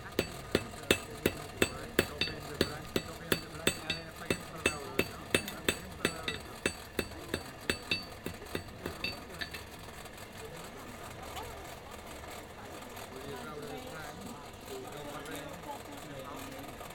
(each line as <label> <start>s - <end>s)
blacksmith working with traditional tools 0.0s - 10.4s
open fire 0.0s - 10.4s